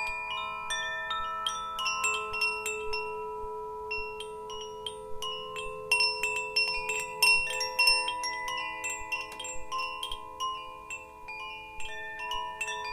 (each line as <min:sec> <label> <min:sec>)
0:00.0 Melodic wind chimes 0:12.9